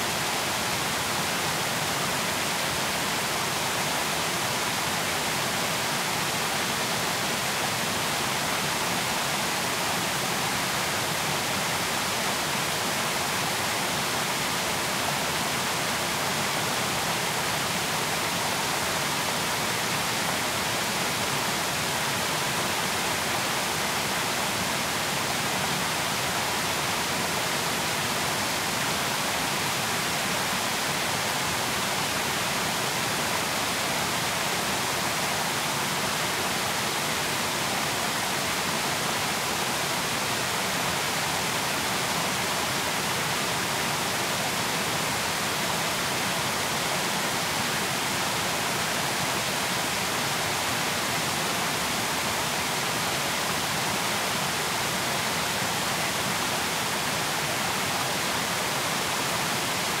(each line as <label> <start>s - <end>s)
Waterfall 0.0s - 60.0s